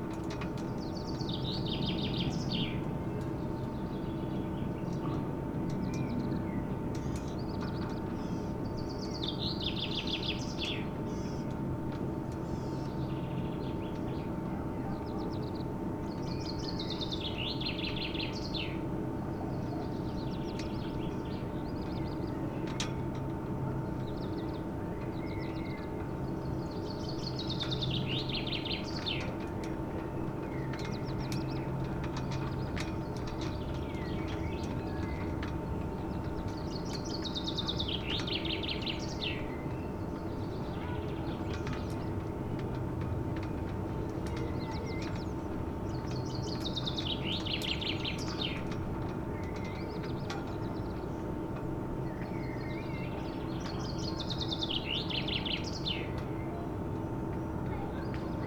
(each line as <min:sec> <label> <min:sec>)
0:00.1 singing birds 0:58.4
0:28.8 wind-whipped ropes of flagstaffs 0:52.2